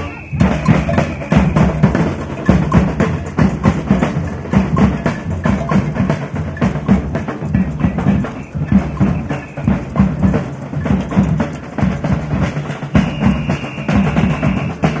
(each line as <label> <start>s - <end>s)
sounds from audience 0.0s - 1.8s
amateur samba band plays in the street 0.0s - 15.0s